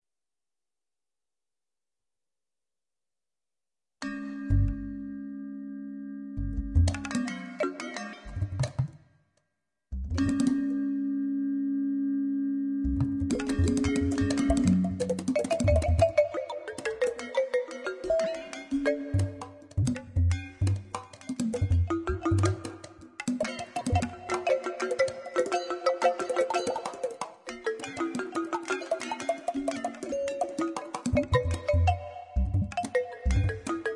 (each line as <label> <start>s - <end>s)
midi guitar 4.0s - 9.0s
midi guitar 10.0s - 33.9s